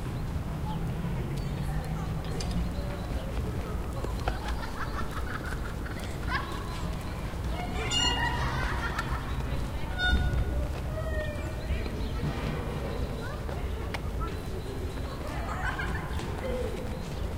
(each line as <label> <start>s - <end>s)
birds 0.0s - 17.3s
city noise 0.0s - 17.3s
trees on the wind 0.0s - 17.3s
children 0.6s - 17.3s
laughter 4.2s - 6.8s
creaking swings 7.4s - 11.7s
laughter 8.2s - 9.7s
laughter 15.2s - 16.7s